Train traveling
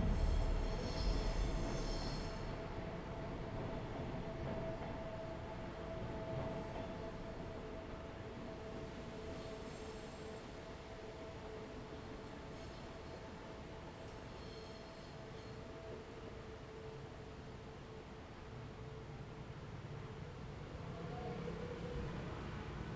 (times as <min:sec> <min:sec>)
0:00.0 0:09.0